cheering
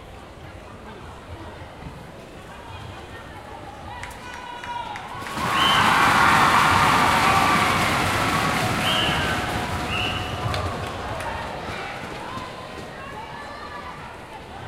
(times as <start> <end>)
3.9 14.6